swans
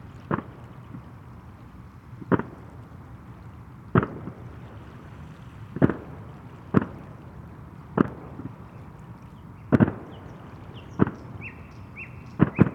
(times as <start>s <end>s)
8.0s 12.7s